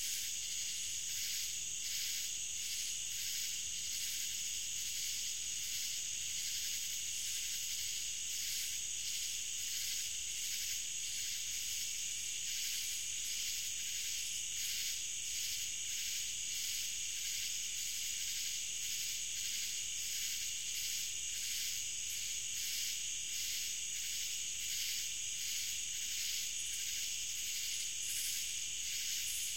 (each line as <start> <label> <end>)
0.0 cicadas 29.5
0.0 crickets 29.5